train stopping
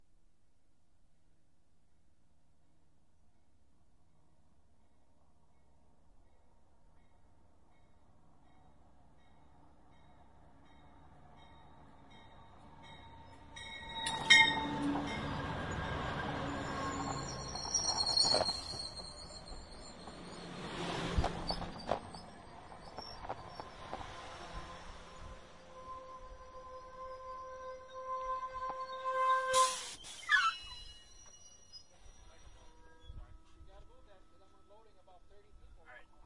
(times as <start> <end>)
11.0 35.4